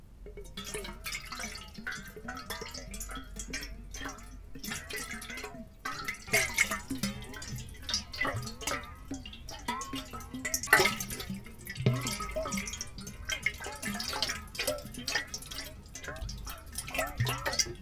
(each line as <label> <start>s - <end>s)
old metal kettle with liquid shaking 0.0s - 17.8s